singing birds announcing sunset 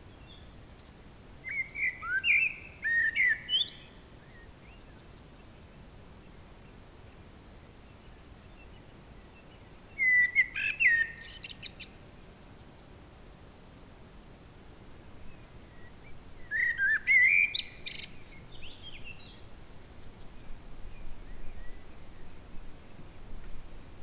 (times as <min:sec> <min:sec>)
0:01.4 0:05.6, 0:08.6 0:13.0, 0:15.6 0:22.3